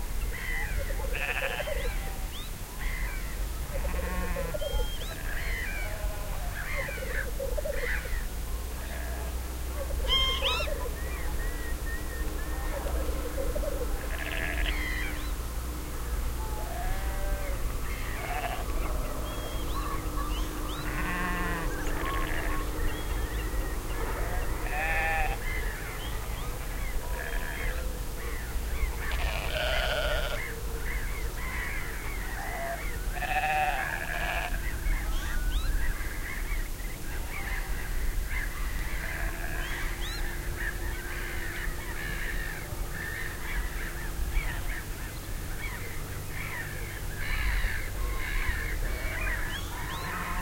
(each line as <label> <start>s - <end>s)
sheep 3.7s - 6.6s
seagulls 9.9s - 11.7s
seagulls 12.4s - 15.3s
sheep 14.0s - 14.9s
seagulls 16.6s - 44.9s
seagulls 45.6s - 50.4s